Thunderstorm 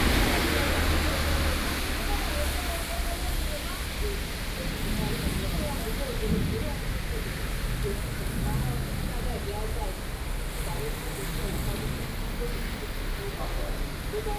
4.2 12.4

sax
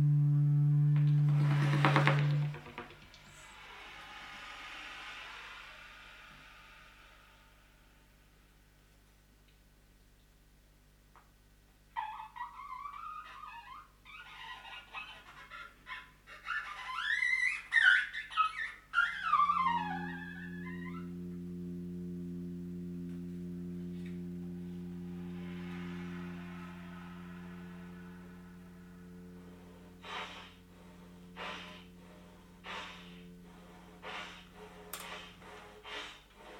0.0 7.1, 19.1 36.5

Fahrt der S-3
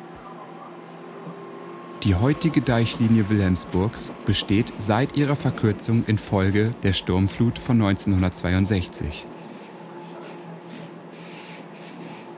2.0 9.3

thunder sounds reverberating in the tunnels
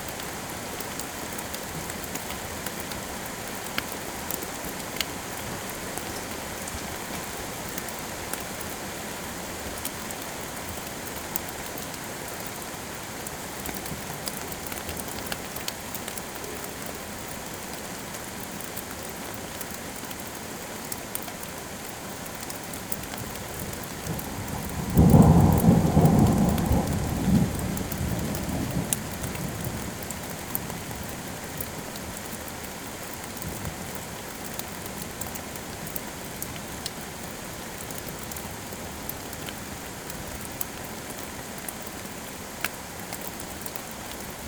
24.5 29.6

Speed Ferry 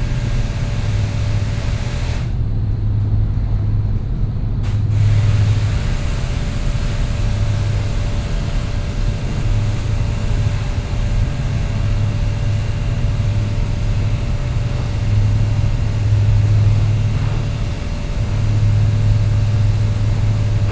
0.0 7.5, 12.5 20.7

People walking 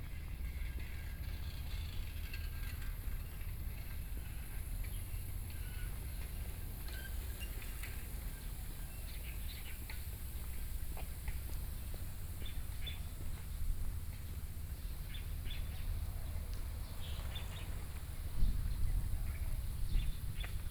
5.2 20.7

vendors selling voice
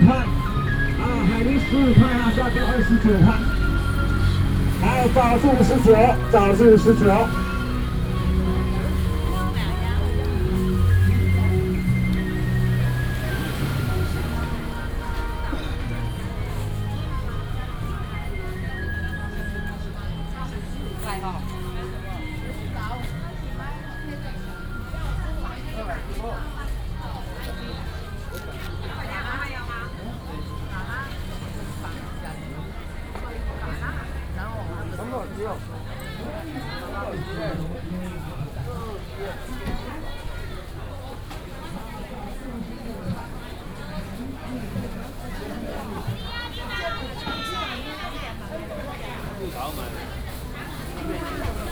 0.0 16.6

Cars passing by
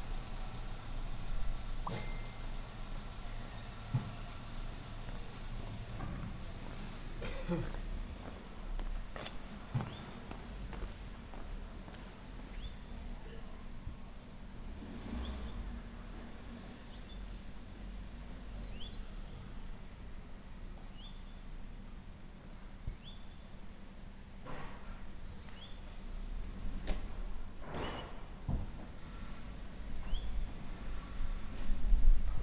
14.6 18.5

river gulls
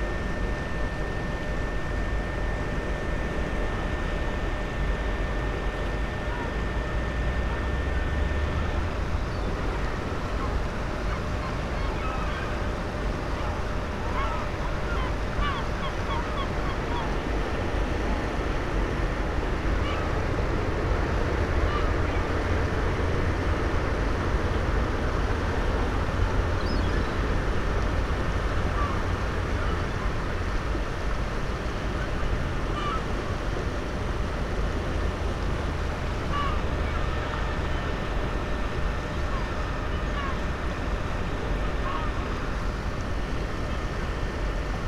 9.0 17.3, 19.8 20.2, 26.5 27.3, 28.6 30.0, 32.0 33.1, 36.2 38.0, 39.0 40.4

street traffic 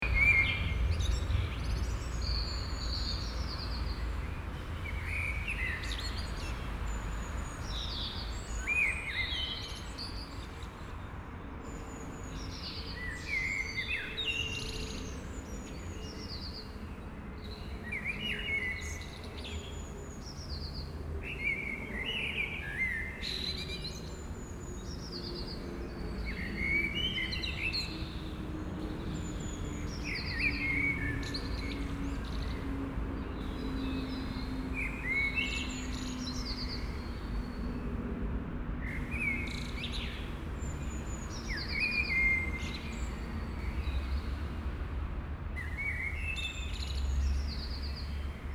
28.0 48.5

